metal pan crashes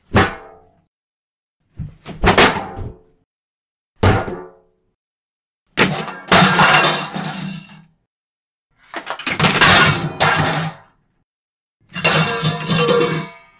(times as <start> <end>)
5.8 7.8, 8.9 11.0, 11.9 13.5